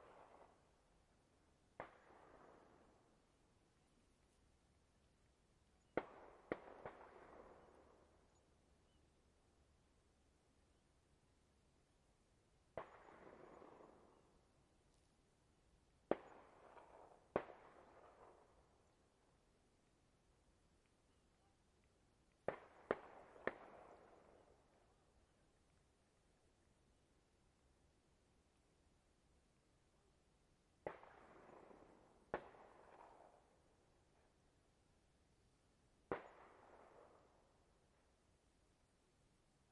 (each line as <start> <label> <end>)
0.0 distant army training gunfire with echo 0.8
1.7 distant army training gunfire with echo 3.4
5.8 distant army training gunfire with echo 8.5
12.7 distant army training gunfire with echo 14.5
16.0 distant army training gunfire with echo 19.2
22.4 distant army training gunfire with echo 24.9
30.8 distant army training gunfire with echo 33.9
36.0 distant army training gunfire with echo 37.7